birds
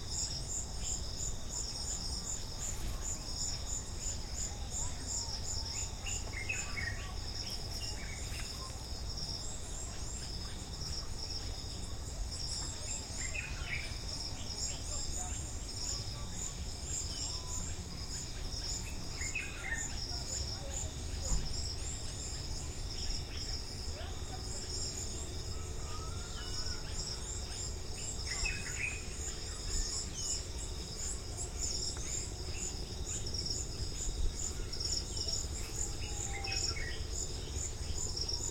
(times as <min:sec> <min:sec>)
0:09.7 0:38.5